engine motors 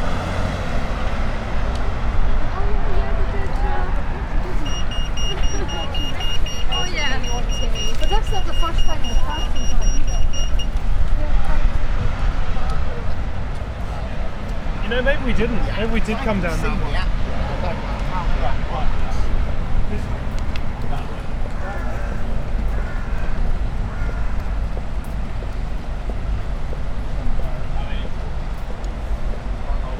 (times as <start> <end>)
0.0 11.8